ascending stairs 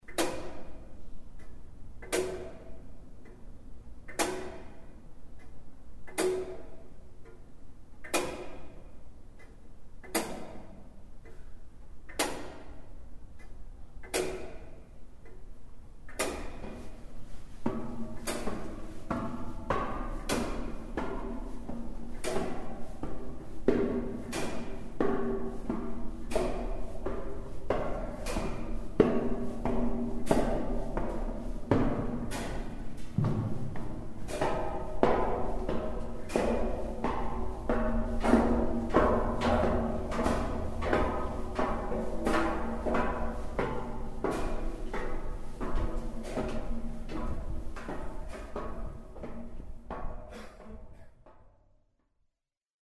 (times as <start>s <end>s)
15.7s 51.7s